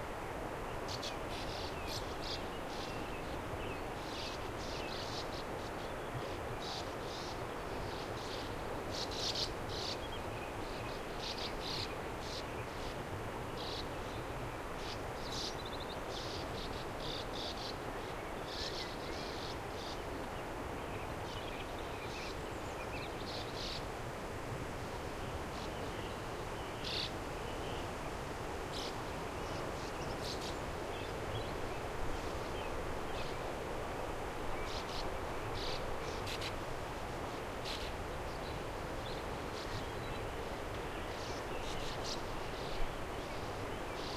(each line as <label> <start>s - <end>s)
Sand Martins 34.6s - 36.6s
Sand Martins 37.2s - 44.1s